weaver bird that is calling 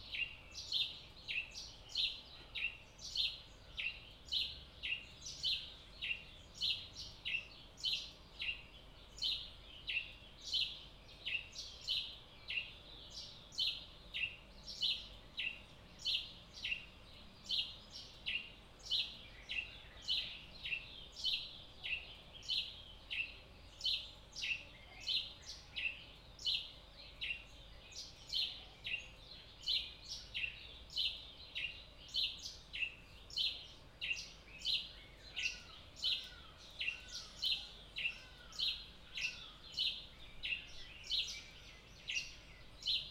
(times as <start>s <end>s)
28.0s 43.1s